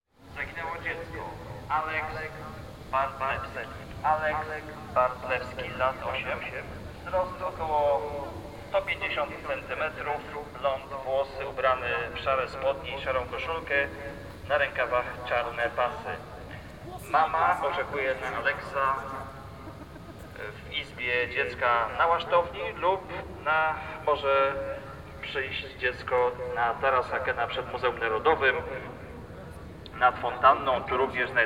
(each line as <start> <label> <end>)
0.4 announcement calling for the lost kid 28.9